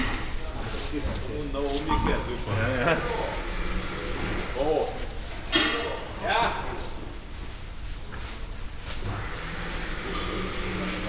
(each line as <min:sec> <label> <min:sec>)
0:00.0 mechanics talking 0:07.3
0:09.0 mechanics talking 0:11.0